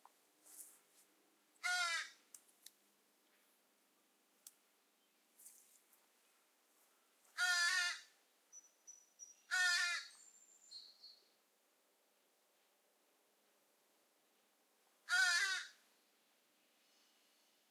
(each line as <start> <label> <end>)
1.6 ravens 2.2
7.4 ravens 8.2
9.5 ravens 10.2
15.0 ravens 15.8